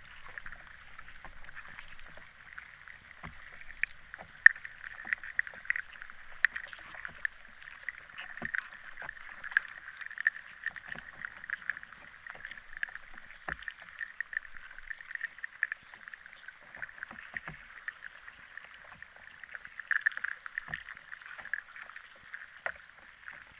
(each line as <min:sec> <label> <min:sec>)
0:00.0 river underwater 0:23.5